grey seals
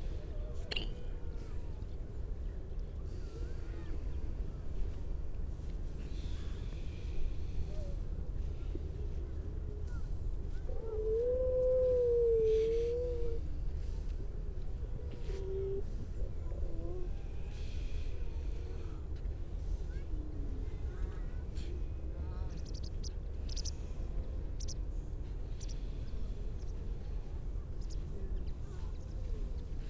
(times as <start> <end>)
9.9 14.0